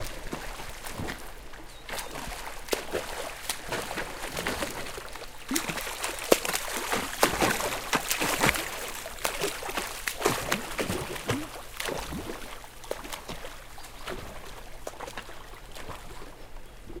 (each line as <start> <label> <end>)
0.0 Swimming and paddling in pool 17.0